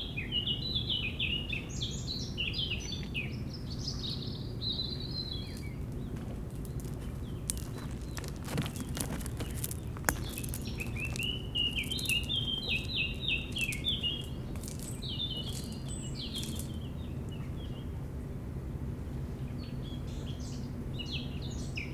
5.5s rouge-gorge 17.4s
5.5s bateaux 17.5s

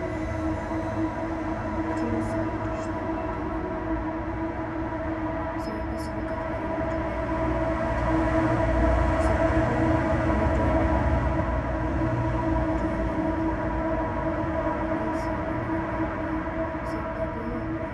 0.0s gentle voice heard within a railing tube 8.2s
0.0s street traffic 17.9s
0.0s trains 17.9s
9.1s gentle voice heard within a railing tube 11.1s
12.5s gentle voice heard within a railing tube 13.7s
14.6s gentle voice heard within a railing tube 17.9s

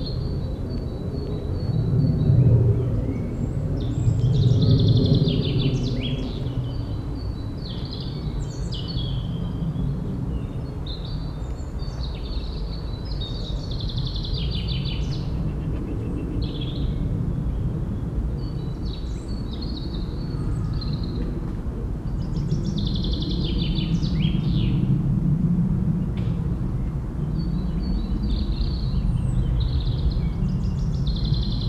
0.0s plane is crossing the sky 14.6s
15.3s plane is crossing the sky 31.6s

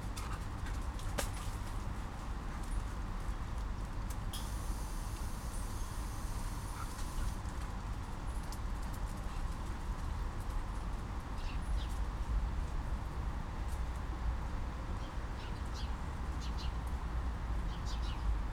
0.0s automatic mechanisms from the building 12.8s
0.0s city 18.5s
15.0s interactive birds 16.9s
17.7s interactive birds 18.3s

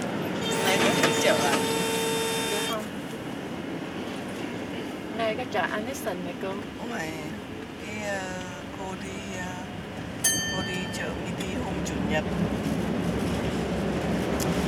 0.5s 2 women talking 1.8s
2.4s 2 women talking 2.9s
5.1s 2 women talking 7.2s

